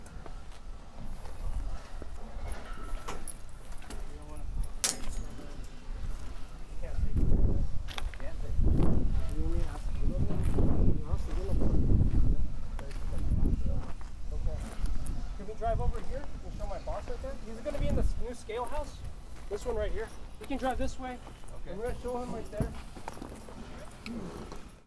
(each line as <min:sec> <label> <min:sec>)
0:01.8 Clanks 0:06.5
0:13.1 Scrapes 0:24.8